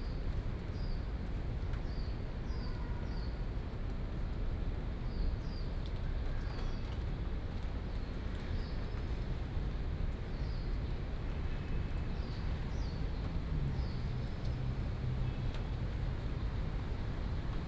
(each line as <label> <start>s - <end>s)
Raindrop 5.8s - 17.6s